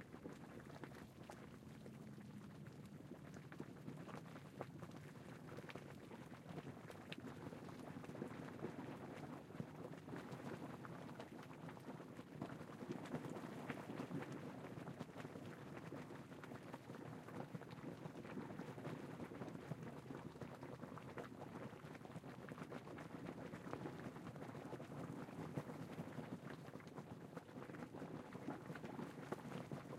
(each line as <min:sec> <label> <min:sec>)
0:00.0 Bubbling Hot Spring 0:29.9